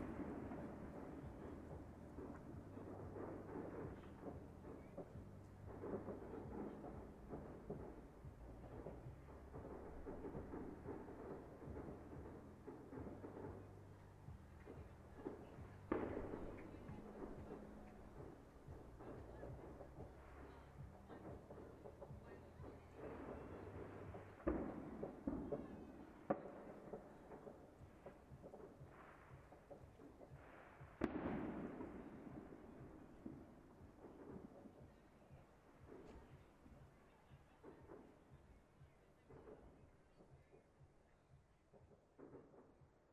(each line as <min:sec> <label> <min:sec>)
0:00.0 fireworks 0:43.1